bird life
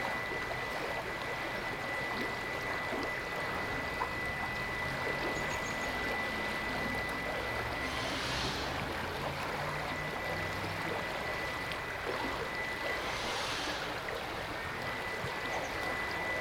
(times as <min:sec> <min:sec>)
0:05.2 0:09.1, 0:12.2 0:16.4